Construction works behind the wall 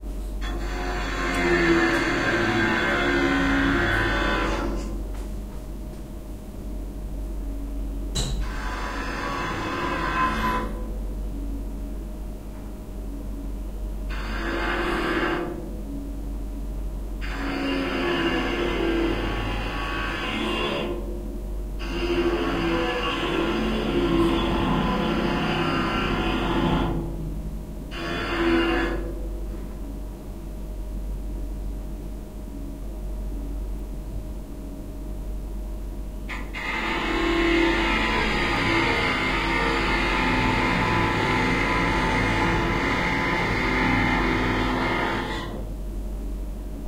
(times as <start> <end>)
0.0 6.5, 8.1 11.3, 14.1 15.7, 17.2 21.1, 21.8 27.2, 27.9 29.8, 36.2 45.7